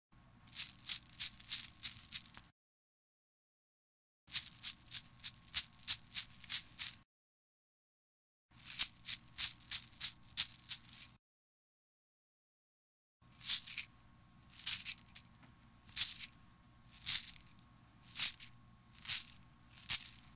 0.5s Beads being shaken to the Christmas Bells melody 2.4s
4.3s Beads being shaken to the Christmas Bells melody 7.0s
8.6s Beads being shaken to the Christmas Bells melody 11.2s
13.3s Beads being shaken to the Christmas Bells melody 13.9s
14.5s Beads being shaken to the Christmas Bells melody 15.3s
15.9s Beads being shaken to the Christmas Bells melody 20.3s

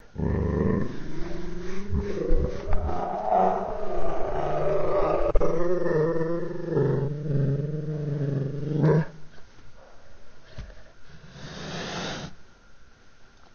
0.0s cat growling and slowed down 9.3s

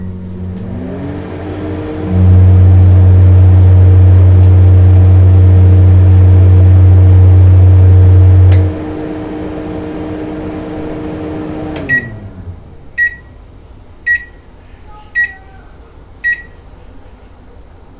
0.0s MICROWAVE STARTUP BEEPS 0.3s
11.1s MICROWAVE STARTUP BEEPS 12.4s
13.0s MICROWAVE STARTUP BEEPS 13.4s
14.1s MICROWAVE STARTUP BEEPS 14.4s
15.2s MICROWAVE STARTUP BEEPS 15.4s
16.2s MICROWAVE STARTUP BEEPS 16.6s

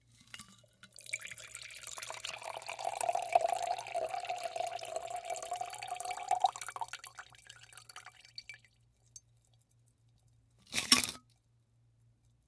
0.9s Martini Pour into Glass 8.6s

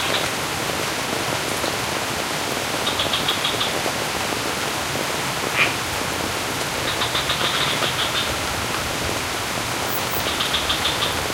0.0s rain falls over the sculpted rice terraces 11.3s
5.5s frog 5.8s
6.8s frog 8.4s
9.9s frog 11.3s

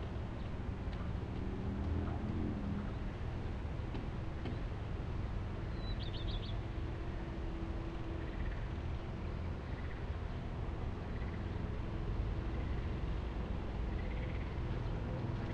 0.0s passing by cars 15.5s
5.7s birds 6.6s
8.1s birds 11.8s
12.4s birds 13.1s
13.8s birds 15.5s

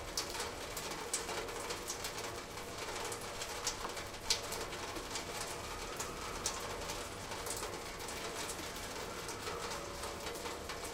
0.0s Rain falling around and through the downspout 10.9s

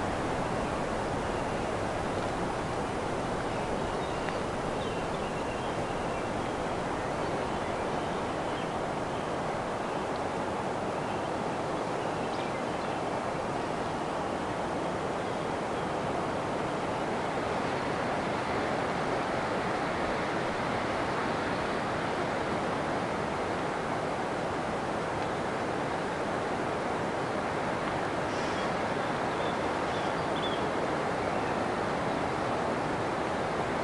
0.0s Oystercatchers flying over the campsite 10.0s

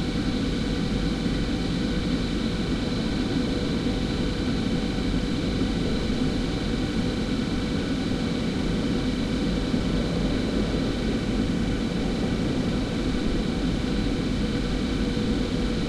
0.0s Noise of the sewage works 15.8s

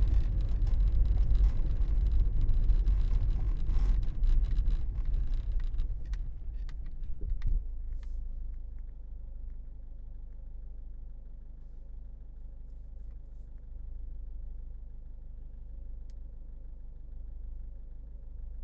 0.0s car moving on cobblestones 7.9s

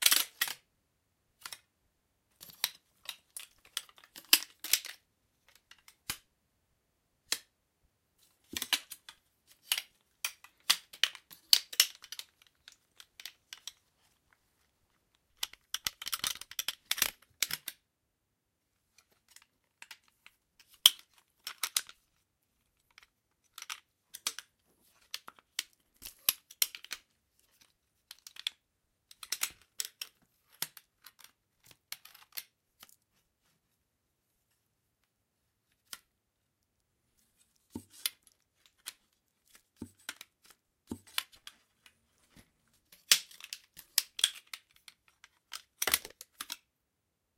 0.0s assembling and Disassembling my white cane 0.7s
1.4s assembling and Disassembling my white cane 1.7s
2.3s assembling and Disassembling my white cane 6.3s
7.2s assembling and Disassembling my white cane 7.6s
8.2s assembling and Disassembling my white cane 17.9s
18.8s assembling and Disassembling my white cane 33.8s
34.4s assembling and Disassembling my white cane 46.7s

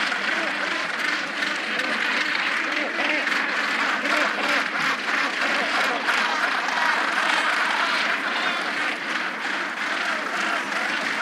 0.0s Gannet breeding colony 11.2s

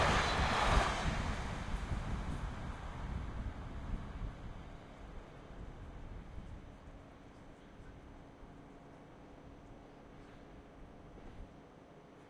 0.0s Train Passing By 7.0s

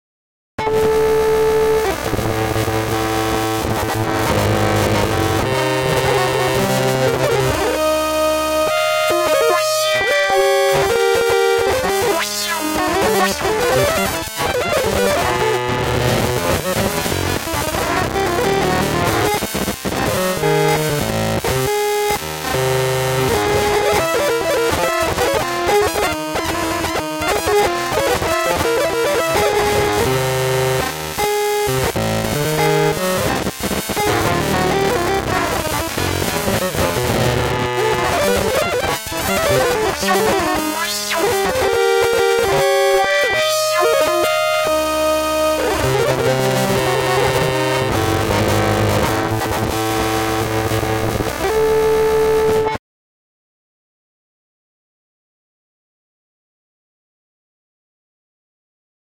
0.6s distorted electric guitar 52.8s

